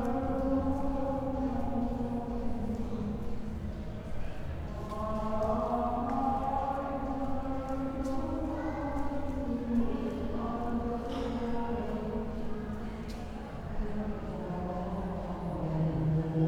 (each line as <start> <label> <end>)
0.0 church sings at night 3.6
4.7 church sings at night 12.7